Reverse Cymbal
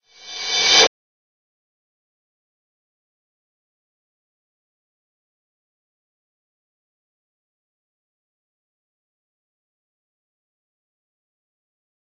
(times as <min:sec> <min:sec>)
0:00.1 0:00.9